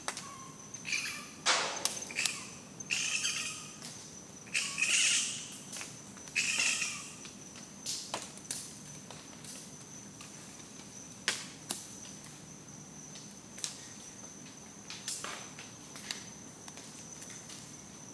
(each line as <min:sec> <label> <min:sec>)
0:00.0 Bats making a racket 0:03.9
0:04.5 Bats making a racket 0:05.6
0:06.4 Bats making a racket 0:07.2